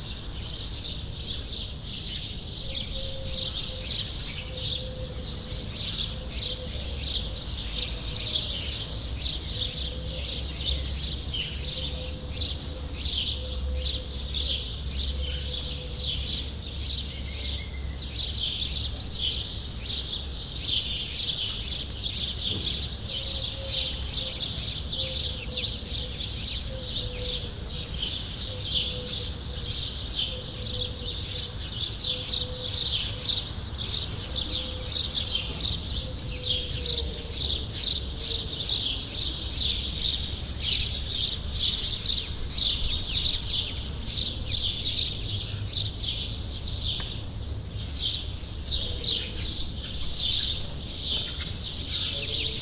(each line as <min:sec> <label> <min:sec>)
0:00.0 lots of birds 0:52.6